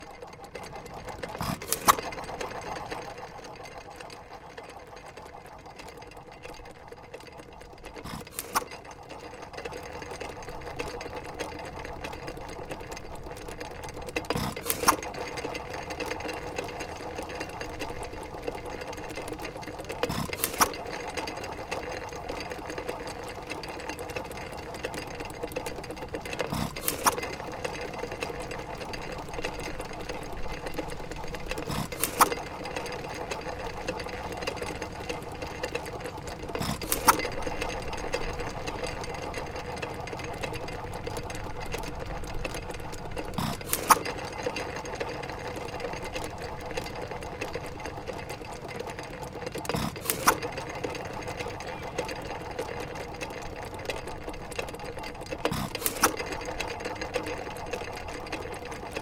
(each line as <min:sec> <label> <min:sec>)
0:00.0 gasoline engine 0:59.0